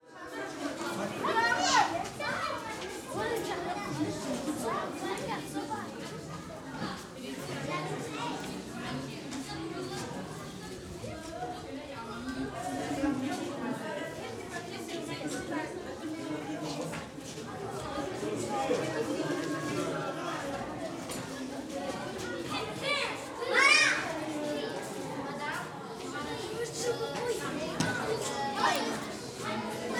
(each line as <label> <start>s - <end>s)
Children voices in a semi reverberated accoustic 0.0s - 29.9s
adult voices 0.2s - 29.9s